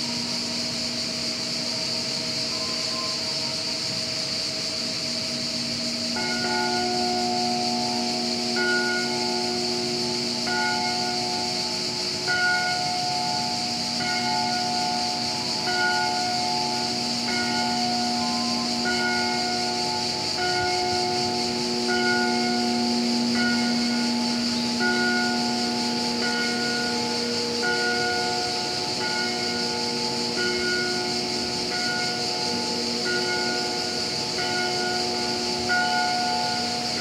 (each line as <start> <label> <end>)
0.0 several unidentified crickets 37.0
3.8 drone of the water pump 37.0